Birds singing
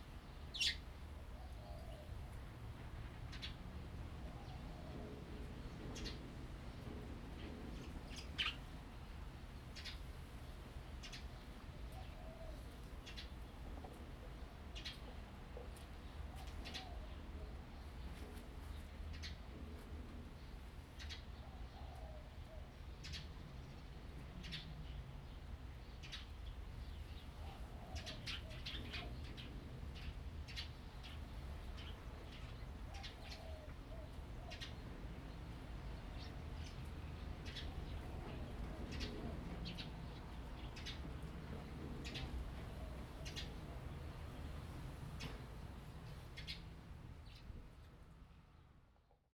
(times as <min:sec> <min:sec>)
0:00.2 0:02.2, 0:20.4 0:47.5